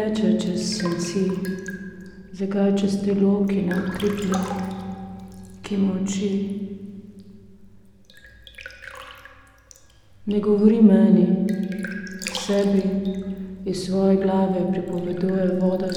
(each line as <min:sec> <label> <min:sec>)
0:00.0 reading poem 0:01.6
0:00.0 water 0:15.9
0:00.4 porcelain bowl 0:07.3
0:11.5 porcelain bowl 0:15.9